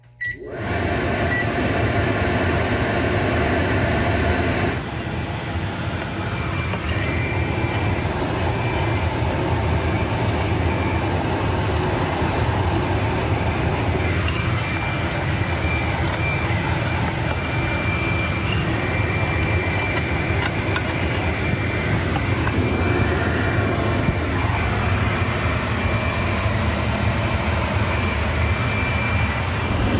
0.0s microwave fan 29.9s
0.1s beep my microwave creates 0.5s
1.2s beep my microwave creates 1.6s
5.8s plate scraping on the surface of my stove-top 22.9s

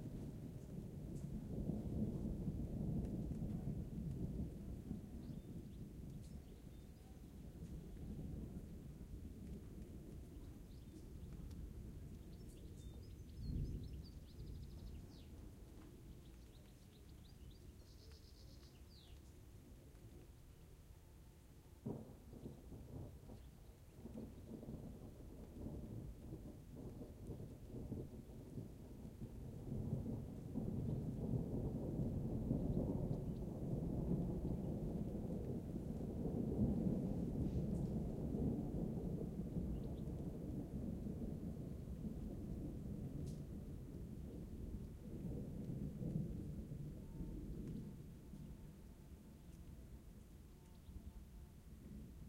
0.0s light rain 52.2s
0.0s thunder rolling through mountains 52.2s

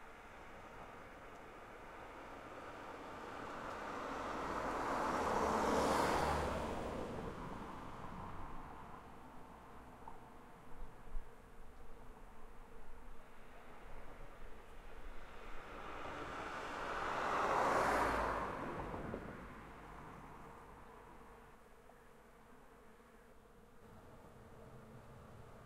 0.1s car 10.6s
2.1s trucks 8.8s
14.6s car 21.6s

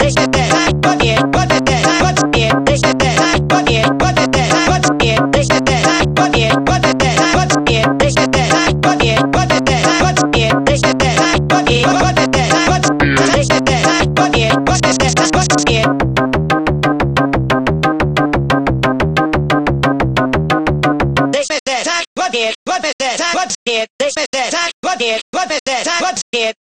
0.0s sliced voice 0.7s
0.0s kick bass 21.3s
11.2s sliced voice 15.8s

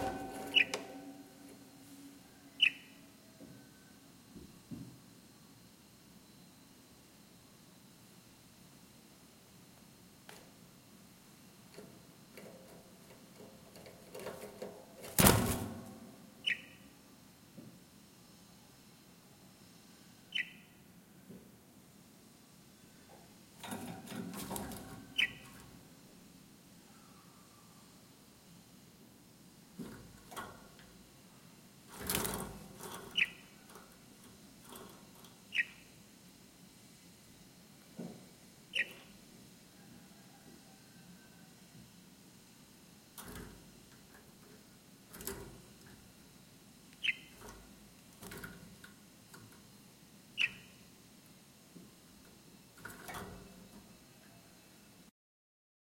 0.0s bird 1.3s
2.3s bird 3.8s
16.4s bird 16.9s
20.3s bird 20.8s
24.6s bird 25.6s
33.0s bird 33.6s
35.5s bird 35.9s
38.7s bird 39.1s
47.0s bird 47.6s
50.4s bird 50.8s

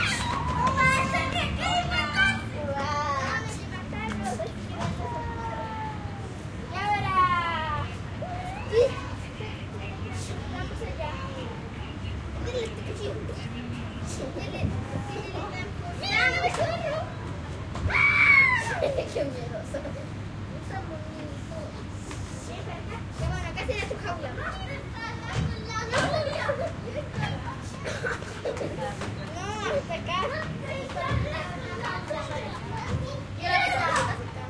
0.0s Children playing 34.4s

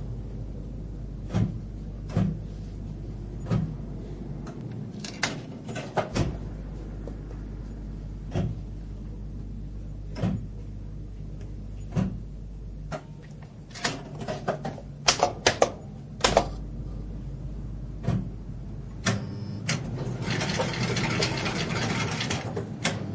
19.8s old slotmachine (fruit machine) 22.6s

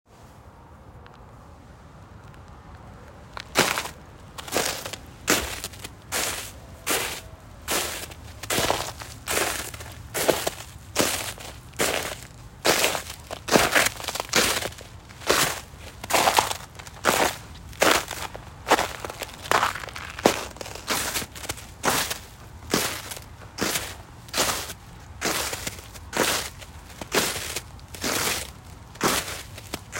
3.3s person walking on snow 29.9s

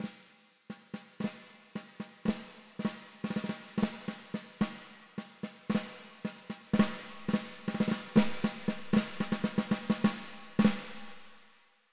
6.8s rimshot 11.3s
6.8s snare 11.4s

